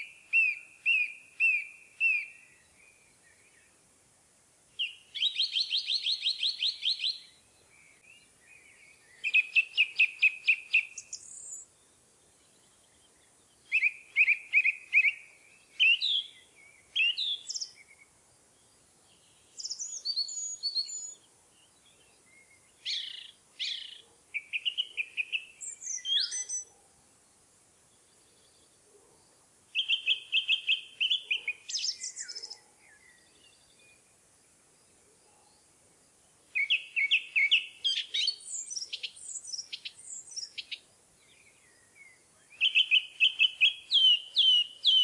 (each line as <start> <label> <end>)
0.0 Eurasian Nuthatch singing 2.7
4.8 Eurasian Nuthatch singing 11.8
12.4 Eurasian Nuthatch singing 18.1
19.1 Eurasian Nuthatch singing 26.8
29.7 Eurasian Nuthatch singing 34.0
36.5 Eurasian Nuthatch singing 45.0